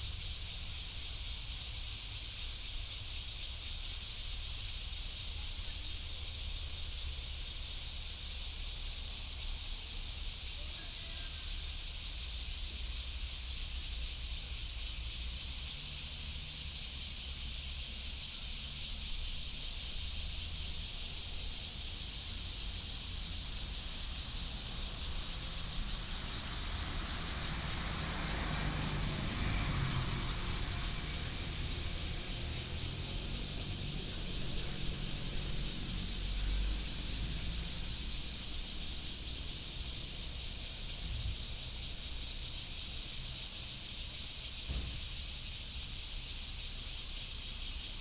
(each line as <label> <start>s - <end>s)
Cicadas sound 0.0s - 48.0s
Traffic Sound 18.8s - 45.4s